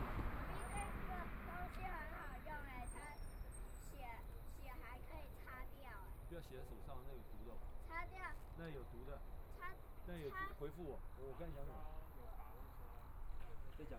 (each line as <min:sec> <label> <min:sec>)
0:00.0 Traffic Sound 0:13.9